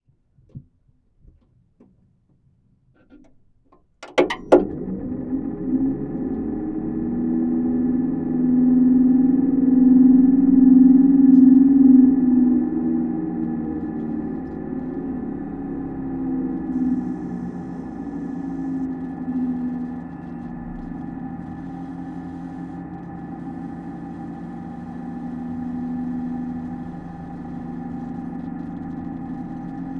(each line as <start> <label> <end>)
4.2 Computer power on 29.9
11.2 hard drive 29.9